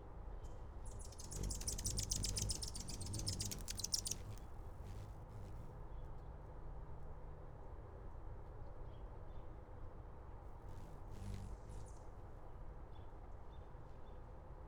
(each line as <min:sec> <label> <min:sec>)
0:01.0 Another hummingbird approaches 0:05.7
0:01.2 Hummingbird Dive Bomb 0:05.7
0:10.7 Another hummingbird approaches 0:12.0